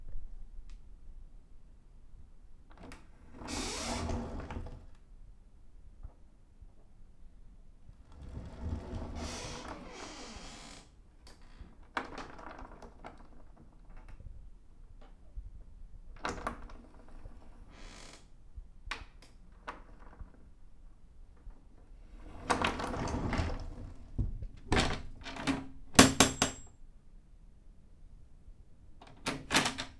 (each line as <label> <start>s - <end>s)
folding door opening and closing 3.4s - 4.9s
folding door opening and closing 8.1s - 10.8s
folding door opening and closing 22.3s - 26.7s